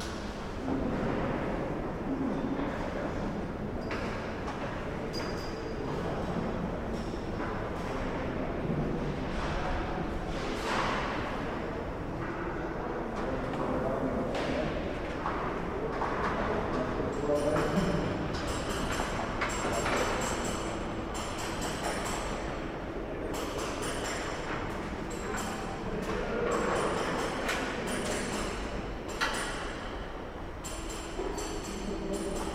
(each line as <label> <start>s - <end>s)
renovation work inside the cathedral 0.0s - 32.5s